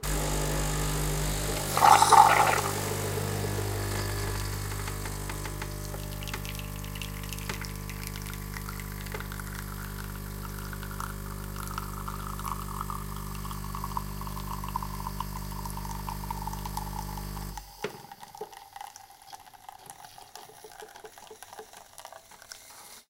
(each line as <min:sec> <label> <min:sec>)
0:00.0 buzz 0:10.4
0:00.0 Coffee machine 0:23.0